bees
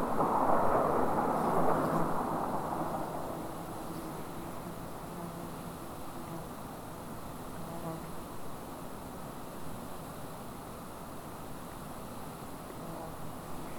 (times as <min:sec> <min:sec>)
0:03.6 0:08.4, 0:12.7 0:13.7